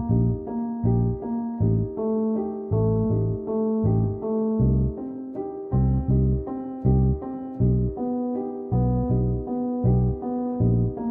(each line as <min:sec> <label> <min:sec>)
0:00.0 bass 0:05.0
0:00.0 piano 0:11.1
0:05.7 bass 0:11.1